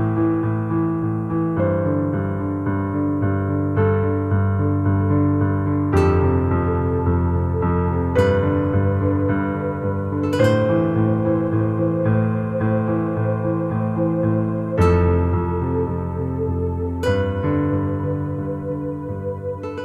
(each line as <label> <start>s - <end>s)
piano 0.0s - 19.8s